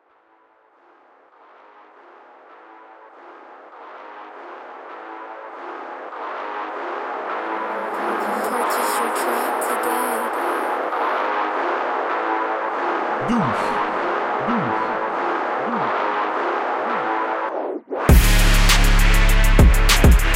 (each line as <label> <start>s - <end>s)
Hard trap beat 7.6s - 12.3s
Hard trap beat 13.2s - 20.3s